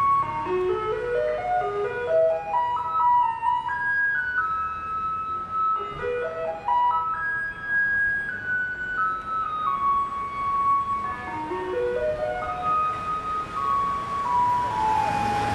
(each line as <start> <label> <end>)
0.0 Garbage truck coming 15.5